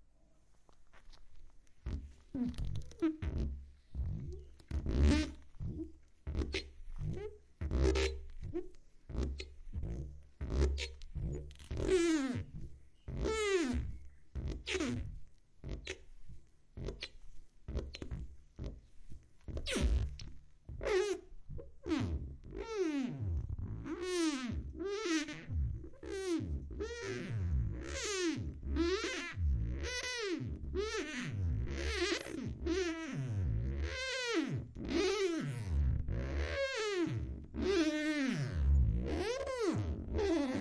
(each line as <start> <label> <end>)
1.8 squeaky sponge on glass 40.6